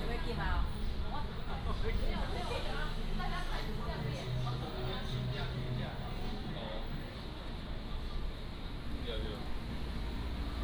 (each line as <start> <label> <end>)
5.7 Walking in the Street 10.6
8.8 Traffic Sound 10.6